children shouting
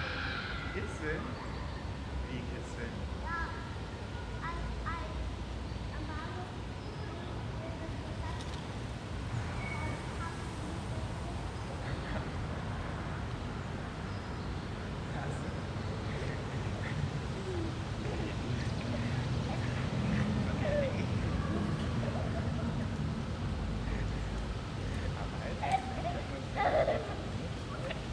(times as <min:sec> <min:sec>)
0:00.0 0:00.9